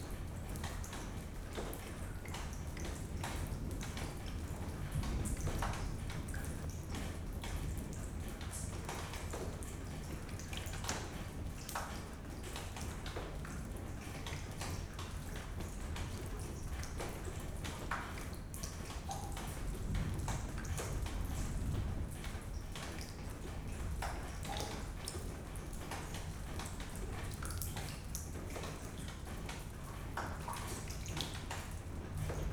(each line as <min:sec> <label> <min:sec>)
0:00.0 a leaking ceiling 0:32.5
0:03.4 thunderstorm 0:09.1
0:14.6 raining 0:32.5
0:19.3 thunderstorm 0:24.5
0:31.4 thunderstorm 0:32.5